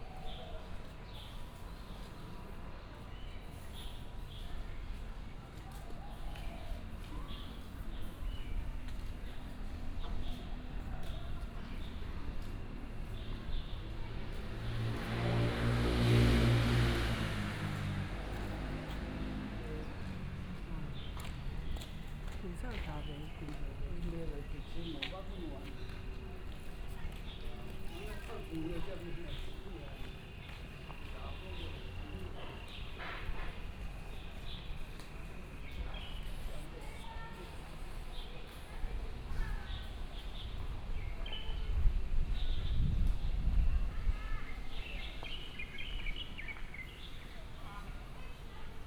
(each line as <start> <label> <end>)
0.0 Walking through the park 48.8
0.2 traffic sound 48.8